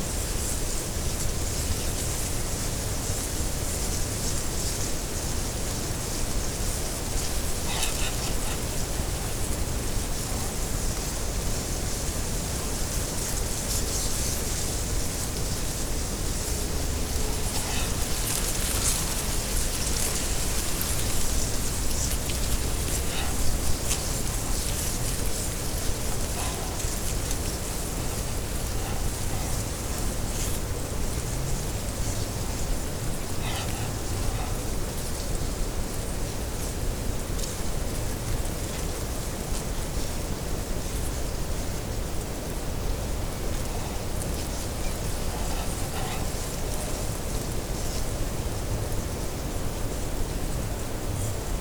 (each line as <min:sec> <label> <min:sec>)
0:00.0 reed in wind 0:51.6